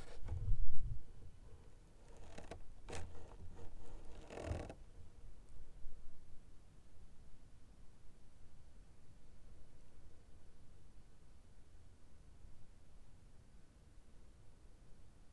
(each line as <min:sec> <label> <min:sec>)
0:00.0 Saving boat on ice 0:05.0